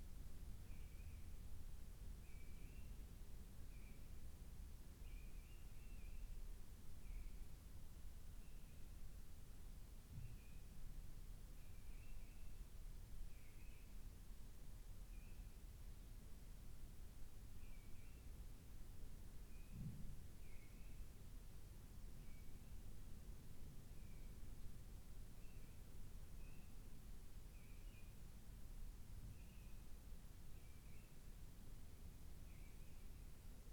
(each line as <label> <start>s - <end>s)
mistle thrush singing outside 25.4s - 26.9s
mistle thrush singing outside 29.4s - 29.8s
mistle thrush singing outside 30.6s - 31.3s